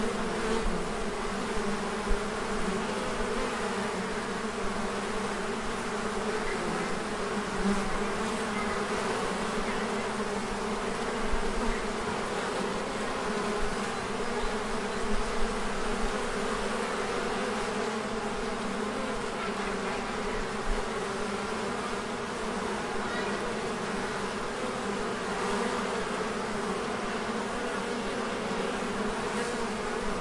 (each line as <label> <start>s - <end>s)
beehive 0.0s - 30.2s